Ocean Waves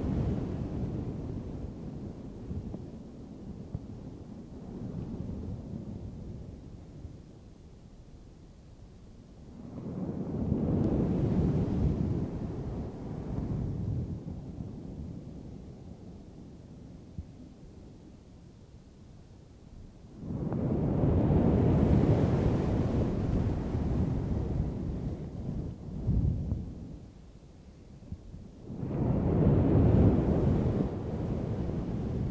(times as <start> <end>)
20.6 25.2